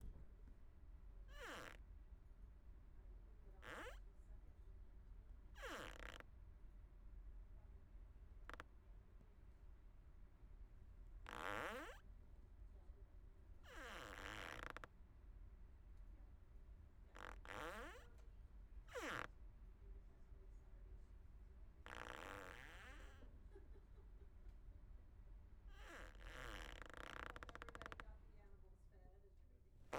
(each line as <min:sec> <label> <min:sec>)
0:11.3 Plastic Squeak Rubbing 0:12.0
0:18.9 Plastic Squeak Rubbing 0:19.3
0:21.9 Plastic Squeak Rubbing 0:23.2
0:25.8 Plastic Squeak Rubbing 0:28.0